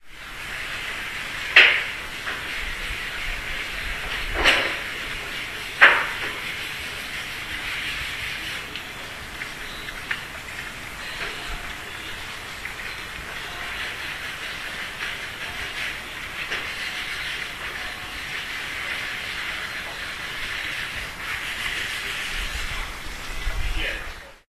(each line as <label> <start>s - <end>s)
calm sounds from some factory 0.0s - 24.4s